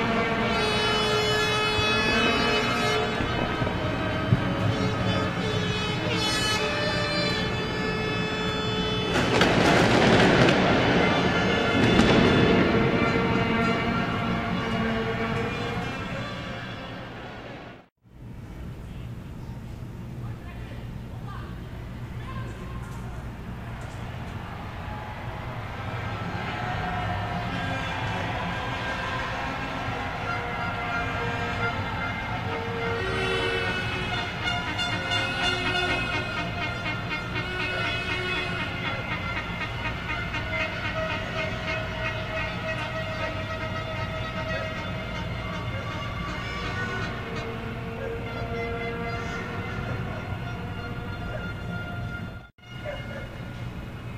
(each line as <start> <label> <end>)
0.0 horns 17.9
1.6 fireworks 15.0
22.3 horns 54.1